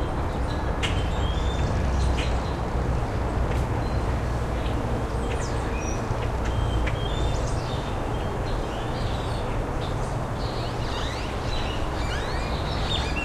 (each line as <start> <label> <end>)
0.0 Highway noise 13.2
0.0 birds 13.2